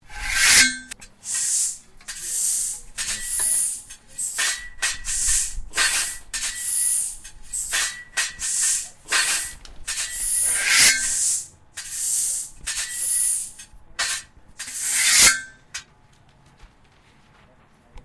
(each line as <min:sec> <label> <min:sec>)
0:00.1 Sword Fight 0:01.0
0:07.6 Sword Fight 0:11.9
0:14.0 Sword Fight 0:15.6